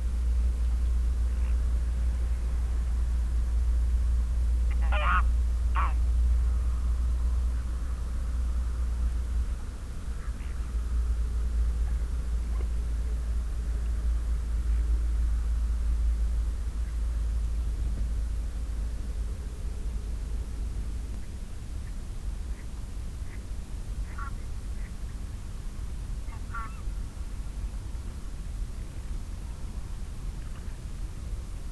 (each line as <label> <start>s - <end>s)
wild geese 4.7s - 6.0s
wild geese 24.0s - 25.0s
wild geese 26.3s - 26.9s